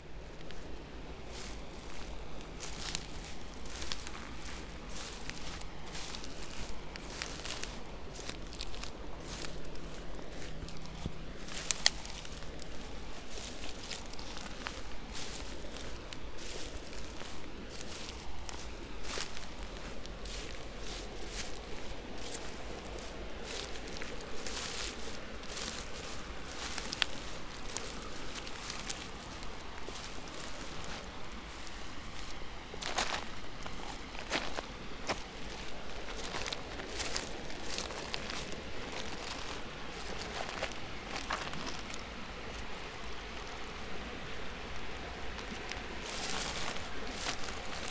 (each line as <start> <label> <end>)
0.0 dry grass 47.9
0.0 river flow 47.9